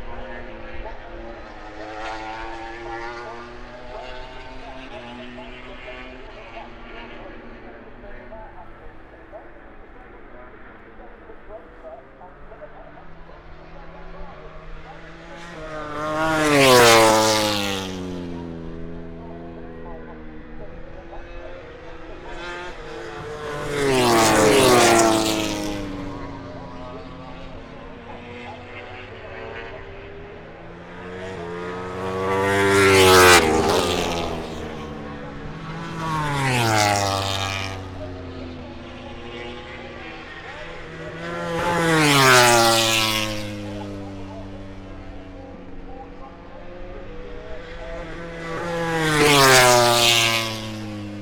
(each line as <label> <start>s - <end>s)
moto grand prix 0.0s - 51.2s